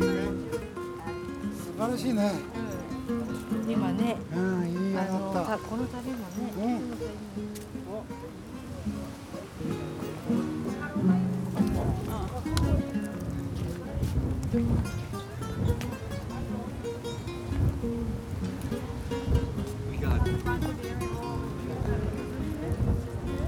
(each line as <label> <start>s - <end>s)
man playing guitar 0.0s - 23.4s
gusts of wind 11.4s - 23.4s